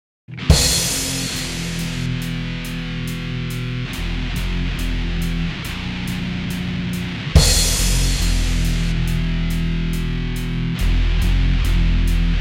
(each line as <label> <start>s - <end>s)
death metal track 0.3s - 12.4s